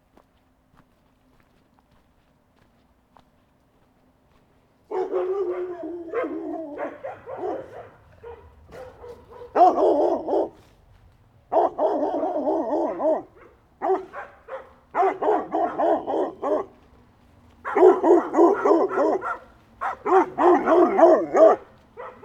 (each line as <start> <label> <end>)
0.0 walking a small path 22.2
4.9 atrocious dogs barking 10.8
11.5 atrocious dogs barking 22.2